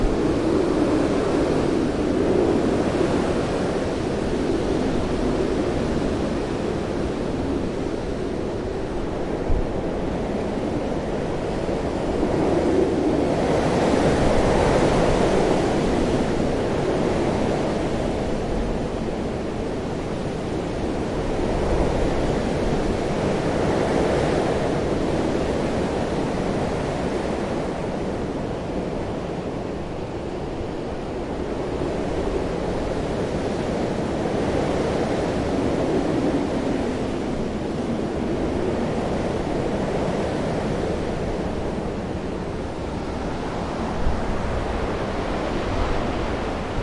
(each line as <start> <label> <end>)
0.0 wind 46.8